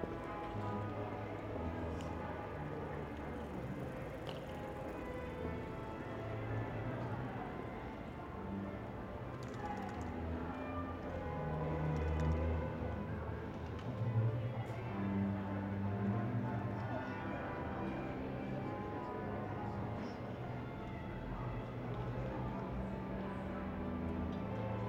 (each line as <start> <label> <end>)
0.0 Strassenmusik 24.8